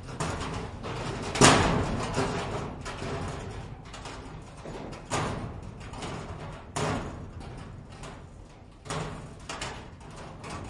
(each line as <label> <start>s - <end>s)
rusty zinc roofing sheets in the wind 0.0s - 10.6s